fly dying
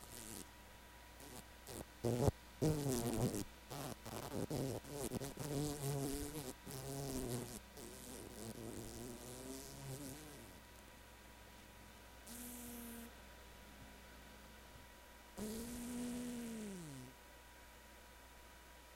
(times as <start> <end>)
1.2 10.5, 12.3 13.1, 15.4 17.1